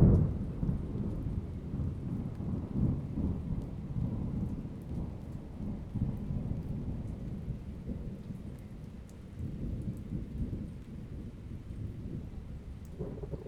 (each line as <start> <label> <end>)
0.0 continuous thunder 13.4